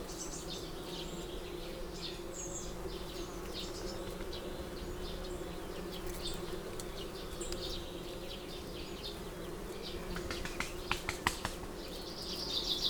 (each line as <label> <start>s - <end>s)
bees 0.0s - 10.2s
background noise 0.0s - 12.8s
wood pigeon 9.8s - 12.1s
pheasant 10.0s - 12.0s